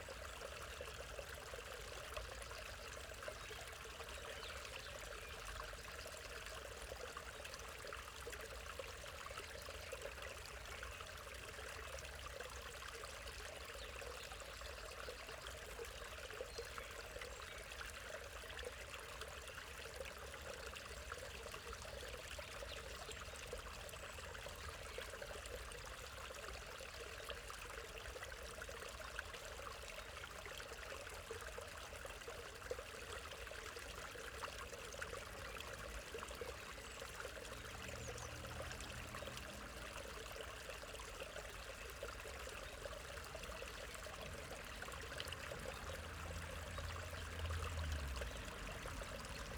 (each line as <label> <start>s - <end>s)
Bubbling waterfall 0.0s - 49.5s
constant traffic noise 31.1s - 49.5s